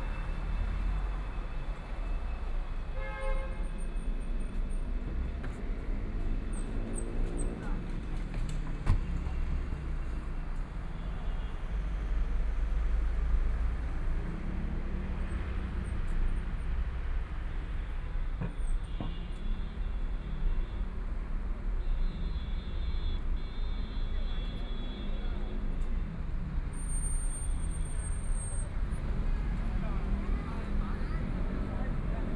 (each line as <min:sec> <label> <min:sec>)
0:00.0 Traffic Sound 0:32.3